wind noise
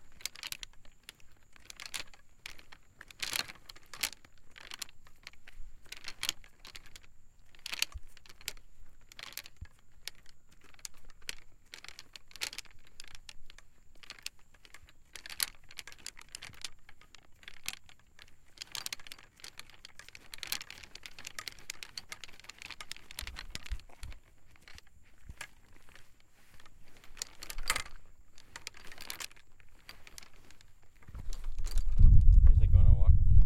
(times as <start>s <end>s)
29.7s 33.4s